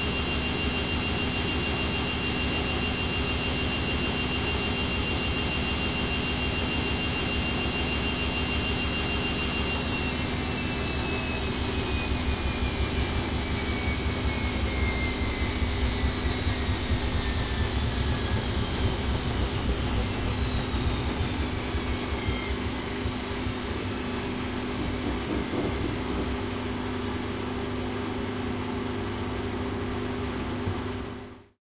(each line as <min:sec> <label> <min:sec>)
0:00.0 Washing machine rinsing 0:28.9
0:07.1 spin cycle 0:28.2